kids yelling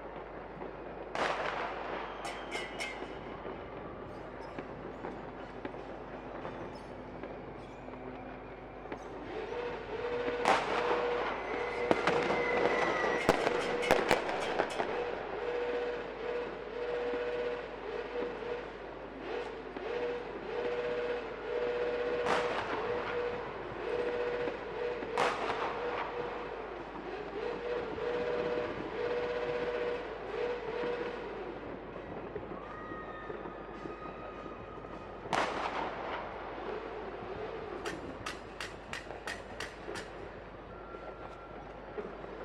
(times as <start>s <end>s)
32.4s 35.0s